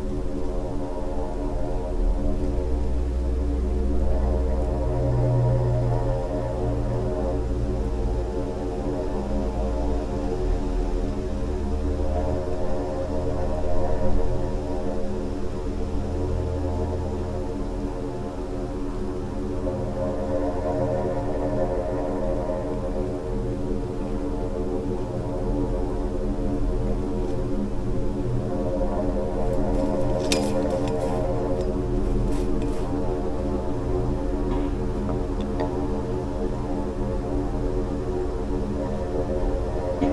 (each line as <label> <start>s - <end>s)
wind 0.0s - 40.1s